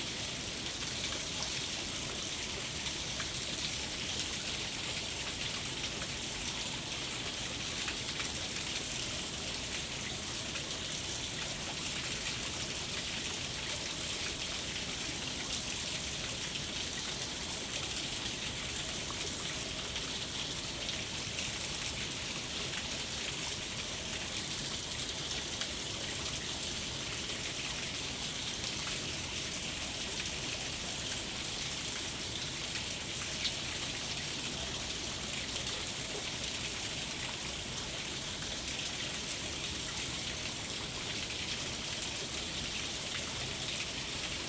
waterfall 0:00.0 - 0:44.4

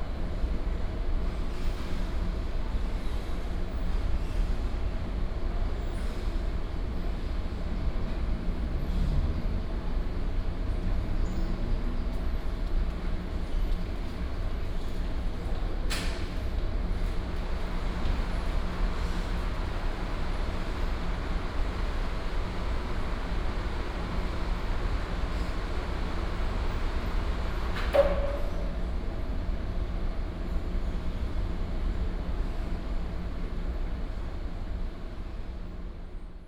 air conditioning 0:00.0 - 0:36.4
Traffic sound 0:07.6 - 0:15.8

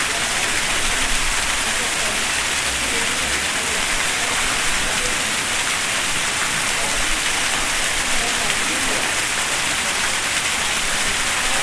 Fountain 0:00.0 - 0:11.6

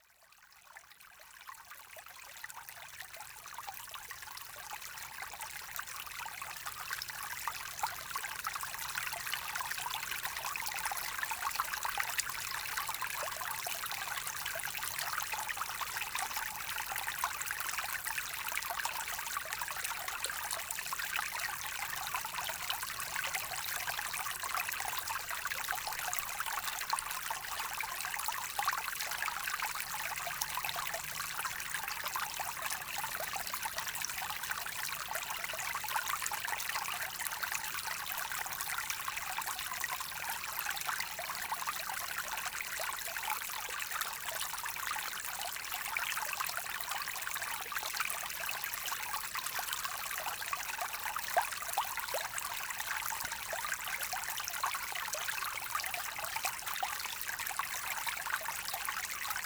very small river, flowing gaily in the pastures 0:00.0 - 0:59.4

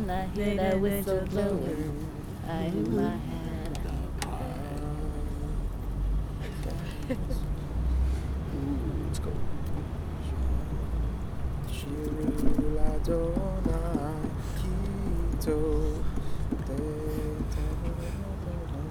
jewish song 0:00.0 - 0:07.4
Late night singing with some other travelers 0:00.0 - 0:08.3
Late night singing with some other travelers 0:11.6 - 0:18.9
jewish song 0:11.6 - 0:18.9

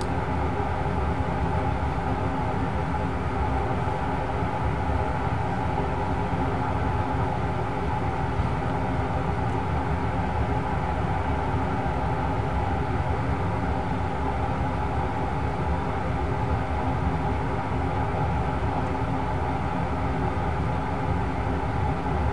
air-conditioning 0:00.0 - 0:22.3

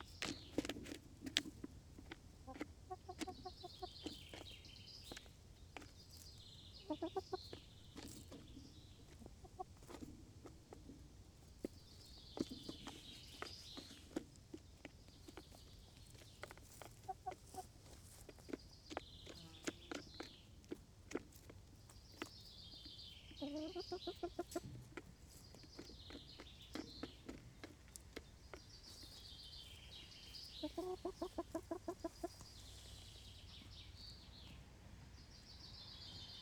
Chickens making little noises while eating 0:00.0 - 0:36.4

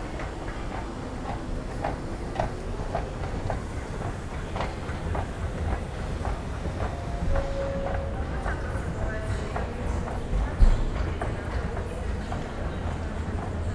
station walk 0:00.0 - 0:13.7

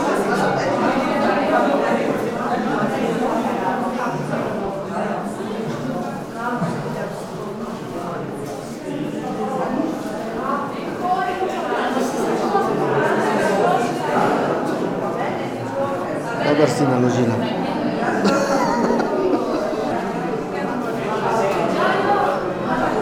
voices 0:00.0 - 0:23.0

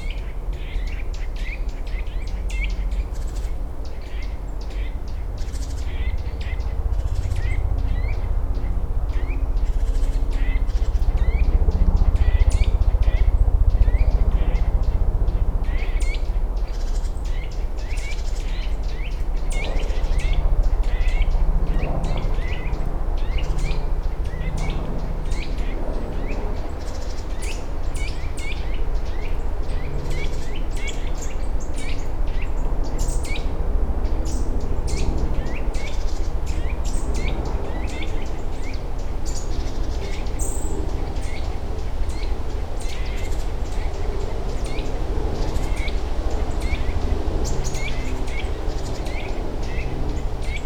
helicopter flies by 0:00.0 - 0:50.6
intense bird activity 0:00.0 - 0:50.6

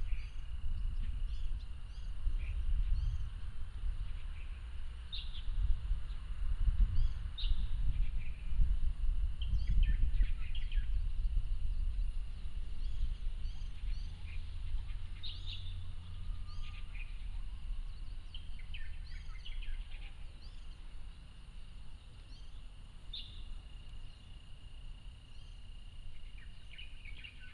Insect sounds 0:10.4 - 0:27.5

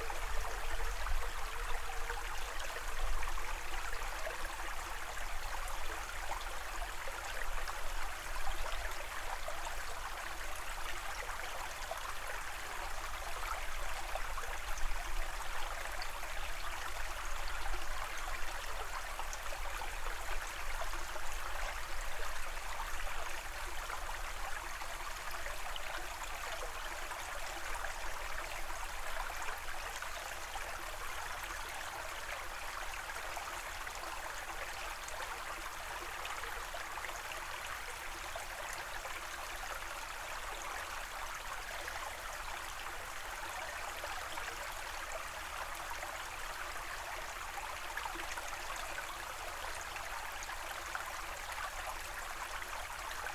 Creek 0:00.0 - 0:53.3

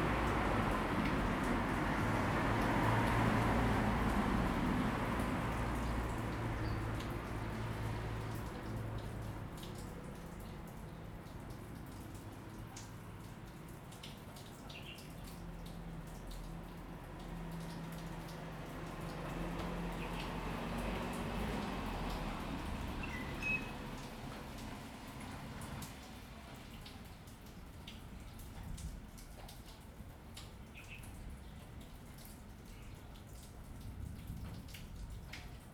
Traffic Sound 0:00.0 - 0:13.9
Rain 0:00.0 - 0:35.7
Traffic Sound 0:14.8 - 0:27.2

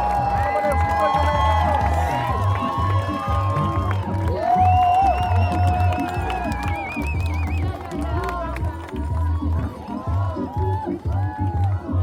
Crowd reacts to arrests 0:00.0 - 0:12.0
cheered and clapped 0:00.0 - 0:12.0

